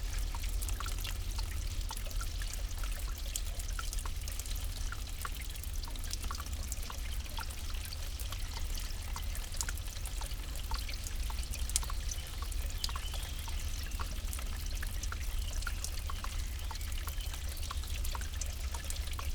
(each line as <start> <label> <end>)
0.0 water dripping 19.3